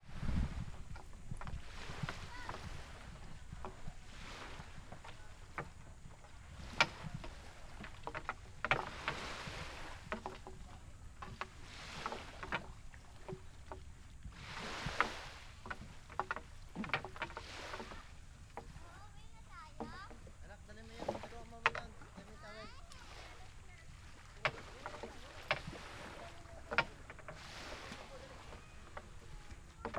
0.0s sea waves 29.9s
0.6s cicadas 29.9s
17.7s voices 29.9s

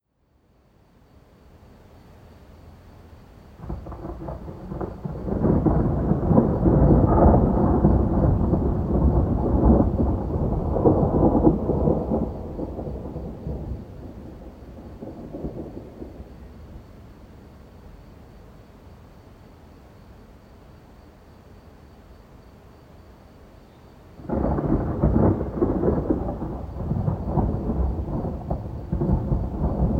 0.1s summer crickets 29.9s
3.6s rumble of thunder 17.8s
24.2s rumble of thunder 29.9s
24.2s thundershower 29.9s

